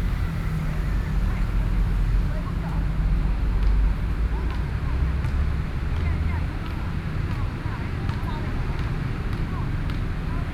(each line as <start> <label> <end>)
0.0 Traffic Noise 7.2